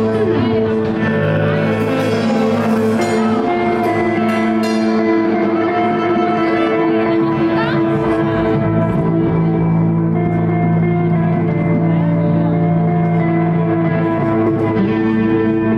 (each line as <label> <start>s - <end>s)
drums 0.0s - 15.7s
guitars 0.0s - 15.7s
lute 0.0s - 15.7s